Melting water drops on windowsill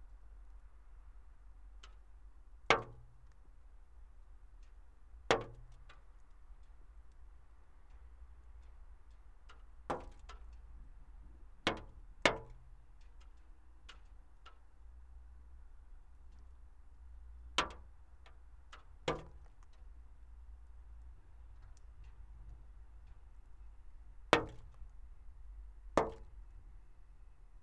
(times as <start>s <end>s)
4.5s 14.8s, 17.5s 25.0s, 25.9s 26.5s